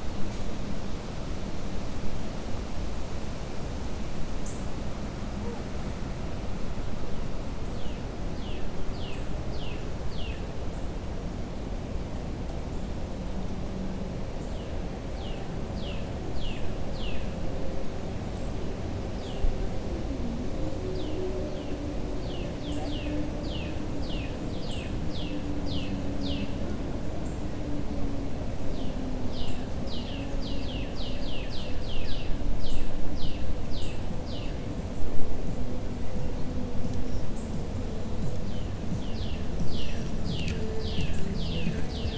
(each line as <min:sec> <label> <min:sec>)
0:00.0 People are traveling over the bridge 0:42.1
0:00.0 traffic 0:42.1
0:00.0 trees blowing in the wind 0:42.1
0:37.0 Birds 0:42.1